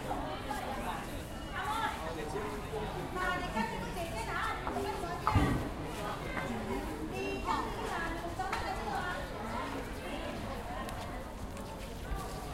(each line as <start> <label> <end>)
0.0 People talking 12.5
4.7 footsteps 12.5